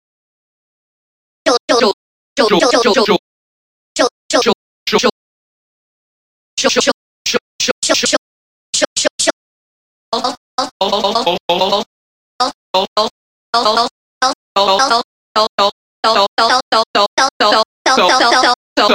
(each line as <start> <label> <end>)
10.2 Vocal 18.9